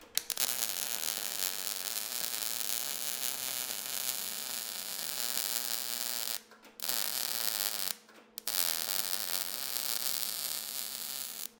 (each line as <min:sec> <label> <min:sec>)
0:00.1 Weld Metal Shock Electric 0:11.5